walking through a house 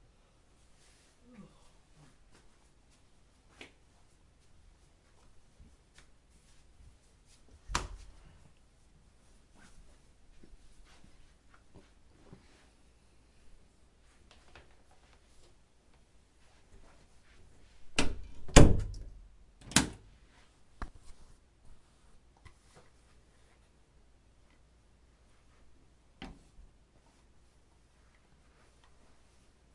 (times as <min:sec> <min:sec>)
0:00.5 0:18.4